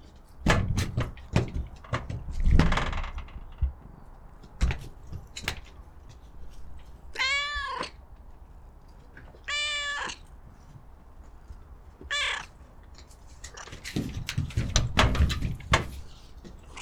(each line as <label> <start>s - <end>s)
Cat walking on to of a tin shed 0.0s - 16.8s
meow 7.1s - 8.0s
meow 9.4s - 10.3s
meow 12.0s - 12.7s